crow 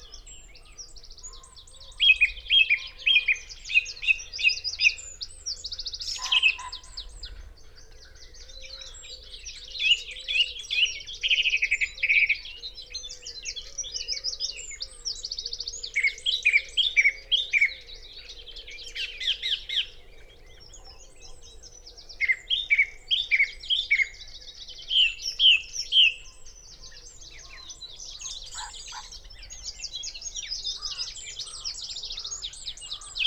6.0 9.4, 26.9 29.6, 30.7 33.2

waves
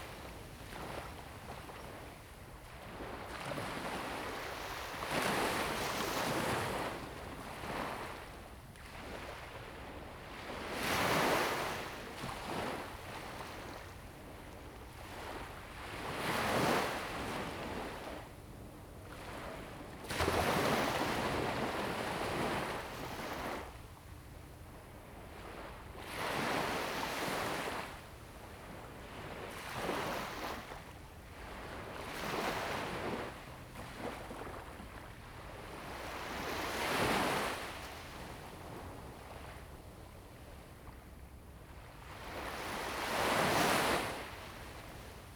19.1 24.3, 25.2 39.8, 42.1 45.3

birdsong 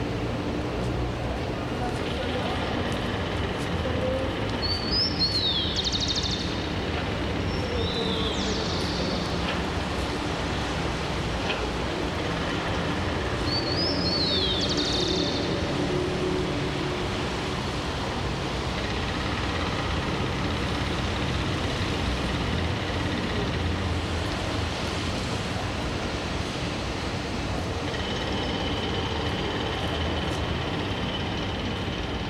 4.1 9.7, 13.3 15.8

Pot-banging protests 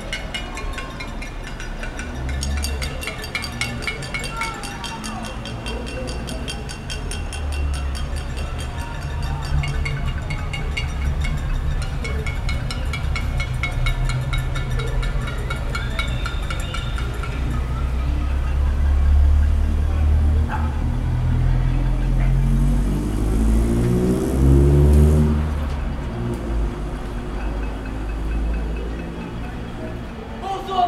0.0 18.4

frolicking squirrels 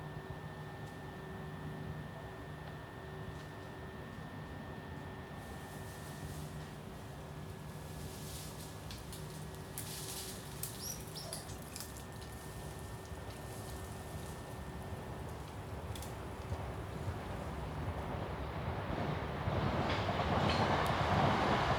9.8 13.2

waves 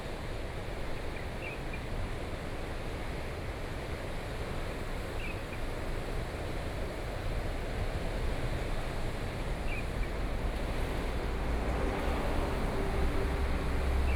2.9 14.1

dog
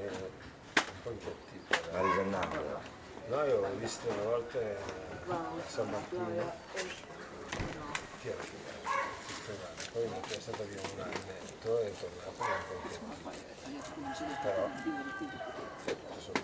2.0 2.4, 8.8 9.4, 12.4 13.0

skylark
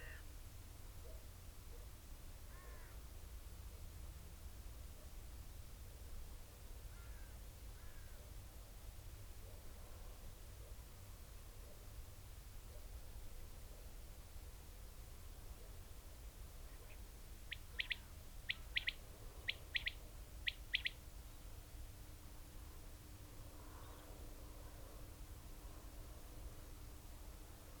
16.8 21.0

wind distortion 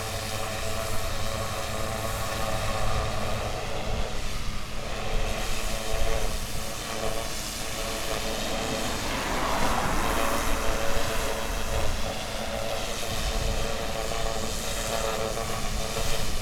1.4 14.0

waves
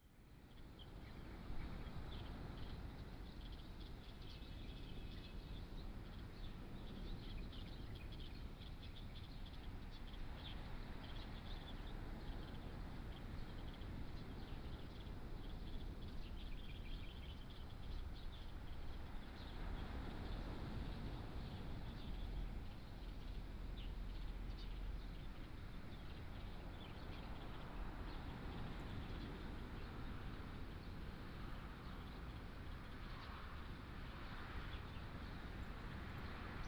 17.8 36.6

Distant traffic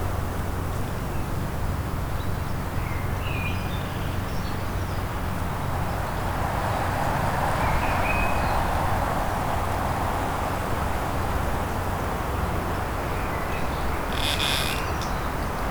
5.6 15.7

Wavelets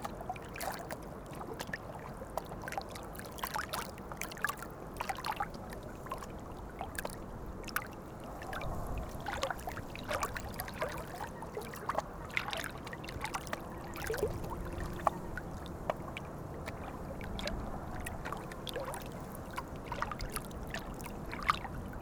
6.1 21.6

